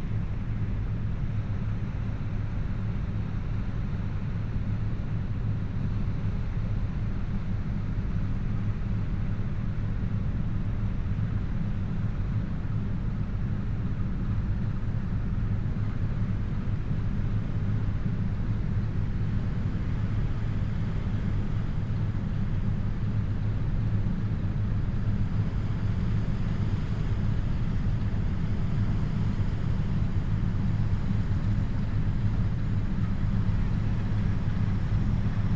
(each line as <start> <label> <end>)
0.0 cargo ship upstream 35.5